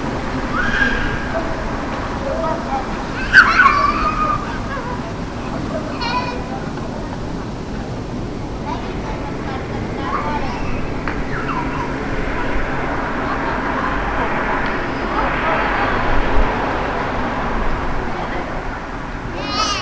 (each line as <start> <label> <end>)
0.0 children play in the park 19.8